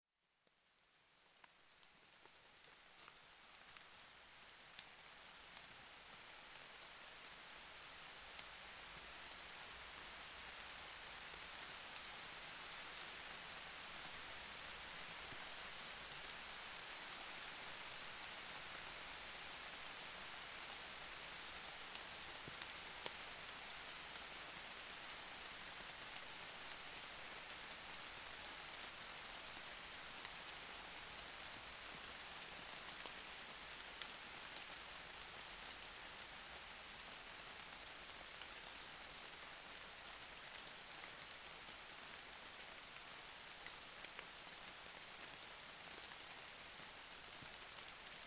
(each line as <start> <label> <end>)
1.0 raining 48.2